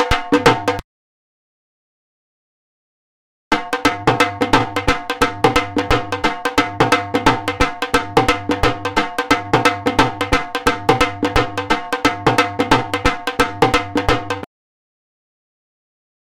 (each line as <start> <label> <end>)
0.0 DHOL BEAT 0.8
3.5 DHOL BEAT 14.5